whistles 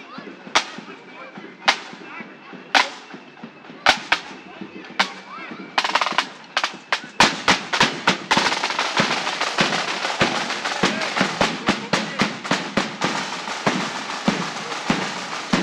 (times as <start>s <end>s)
0.1s 8.4s